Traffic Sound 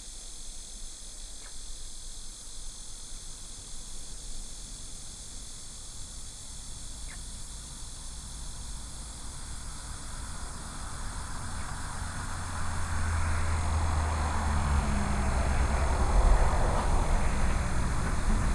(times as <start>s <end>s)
7.8s 18.5s